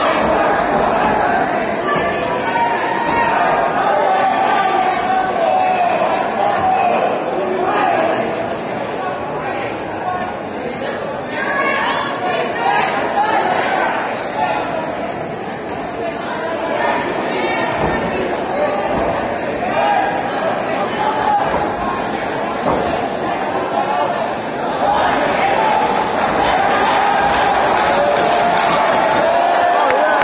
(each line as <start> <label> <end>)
0.0 Crowd noise 30.2
24.9 English cheering sounds 30.2
27.2 clapping 28.9
29.5 clapping 30.2